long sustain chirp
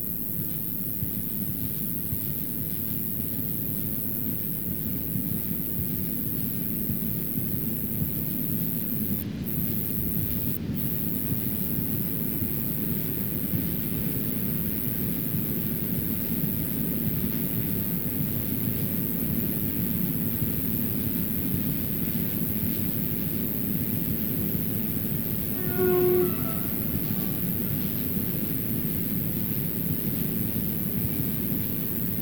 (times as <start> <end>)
25.1 28.9